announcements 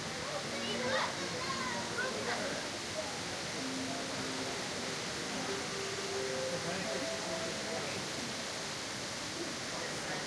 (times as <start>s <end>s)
3.6s 8.5s